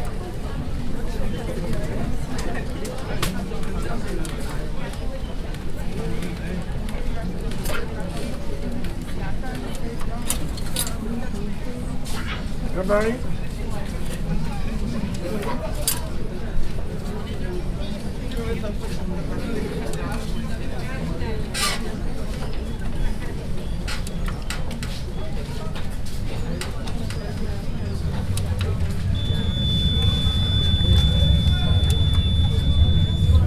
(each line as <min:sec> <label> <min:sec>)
0:00.0 crowd 0:33.4
0:22.0 Ticket vending machine 0:33.4